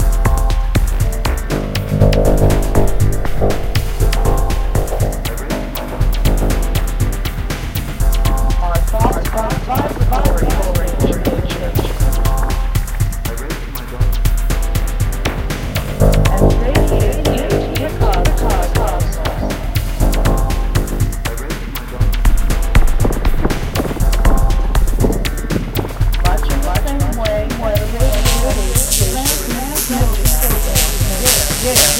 Trippy, glitchy beat 0:00.0 - 0:31.9

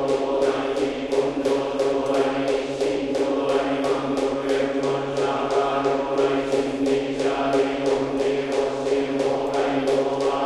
mokugyo strokes on each syllabe 0:00.0 - 0:10.4
monks sing together in a rhythmic way 0:00.0 - 0:10.4

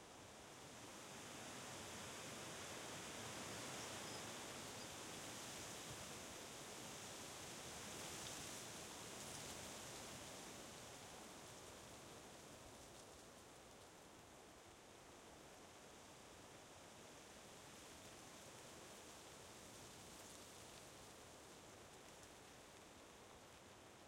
tree's branches and leaves rustling in gusts of wind 0:00.0 - 0:24.0

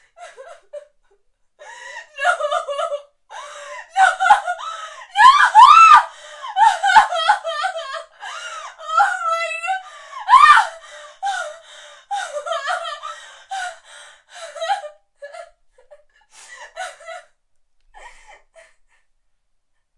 crying 0:05.2 - 0:08.1

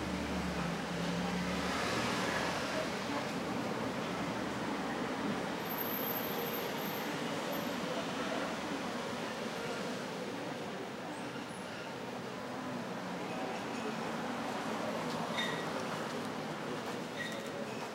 bus 0:00.0 - 0:17.9
traffic passing by 0:00.0 - 0:17.9

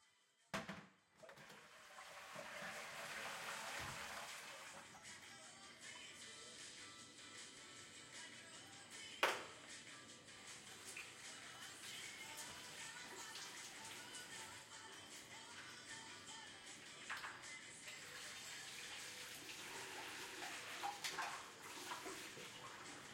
water 0:01.3 - 0:04.9
water 0:10.7 - 0:14.7
water 0:17.0 - 0:23.1

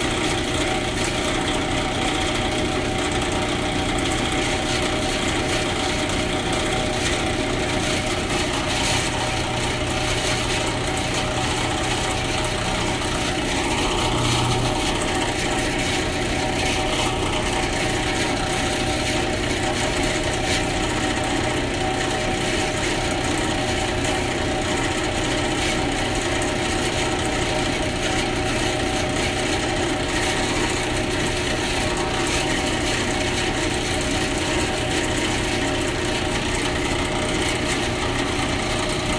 bandsaw running, including start and stop 0:00.0 - 0:39.1

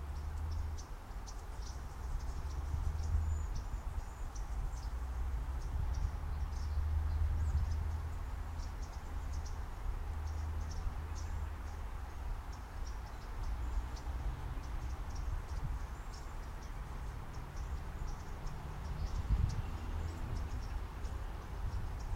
Birds 0:00.0 - 0:22.1

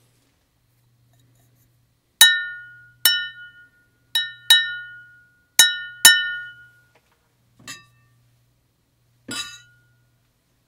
toast wine glass 0:02.2 - 0:06.7
toast wine glass 0:09.3 - 0:09.9

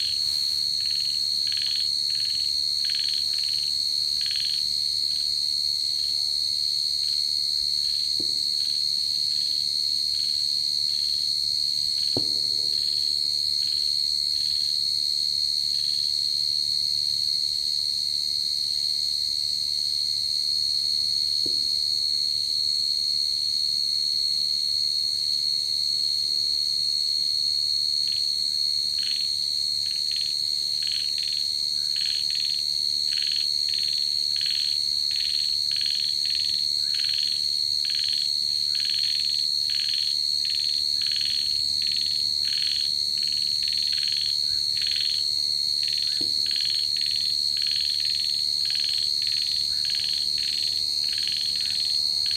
Frogs 0:00.0 - 0:11.4
Cicadas 0:00.0 - 0:52.3
Frogs 0:28.0 - 0:52.3

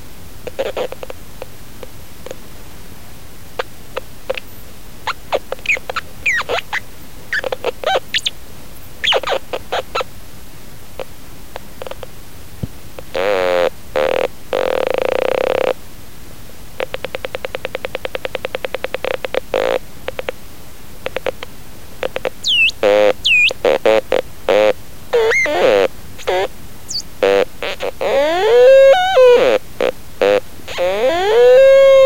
playing on my crackle-box 0:04.0 - 0:08.4
playing on my crackle-box 0:21.0 - 0:32.0

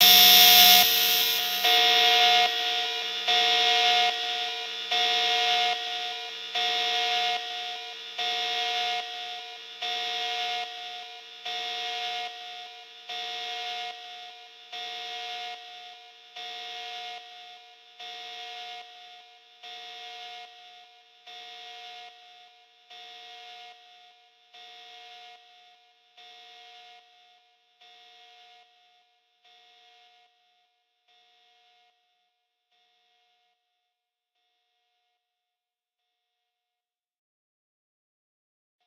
Biohazard Alarm 0:00.0 - 0:06.0

